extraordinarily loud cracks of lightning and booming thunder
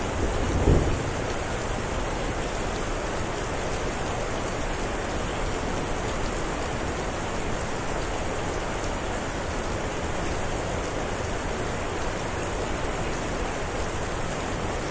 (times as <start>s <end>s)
0.1s 1.5s